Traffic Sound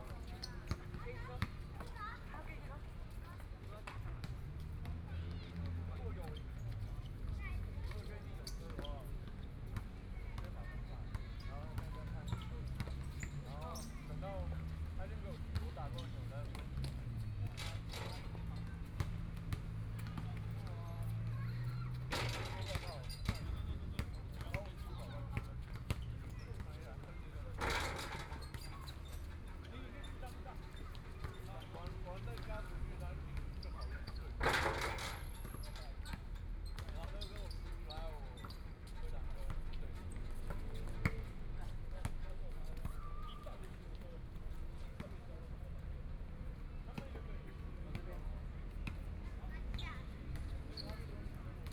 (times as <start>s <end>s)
14.1s 36.7s